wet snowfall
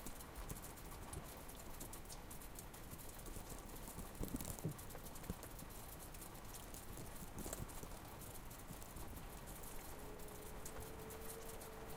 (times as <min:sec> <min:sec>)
0:02.5 0:11.9